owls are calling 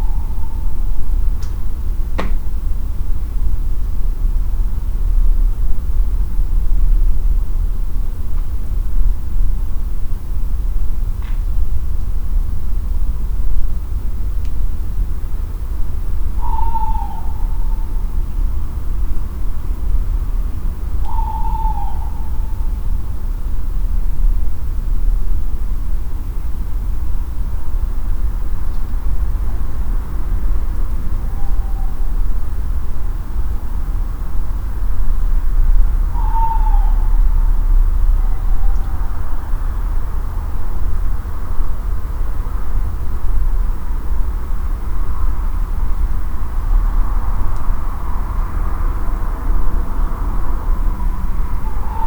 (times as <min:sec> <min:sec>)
0:00.0 0:01.2, 0:16.3 0:18.6, 0:20.9 0:23.0, 0:30.9 0:32.5, 0:36.0 0:40.0, 0:50.6 0:52.0